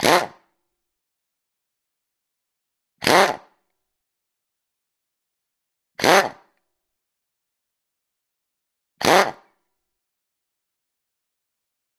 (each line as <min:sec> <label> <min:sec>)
0:00.0 impact wrench 0:00.5
0:03.0 impact wrench 0:03.5
0:06.0 impact wrench 0:06.4
0:09.0 impact wrench 0:09.5